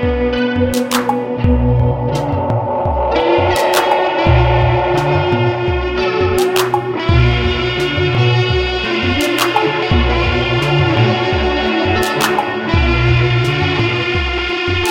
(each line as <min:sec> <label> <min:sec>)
0:00.0 elecric guitar 0:14.9
0:00.8 drum machine 0:07.5
0:09.2 drum machine 0:13.2